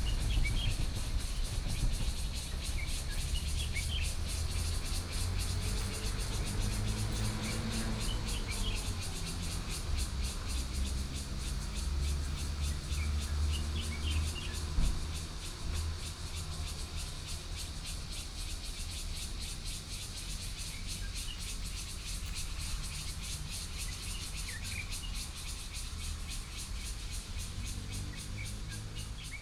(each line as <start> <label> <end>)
0.0 Trains traveling through 19.1
0.0 Birdsong 29.4
0.0 Cicadas 29.4
0.0 Traffic 29.4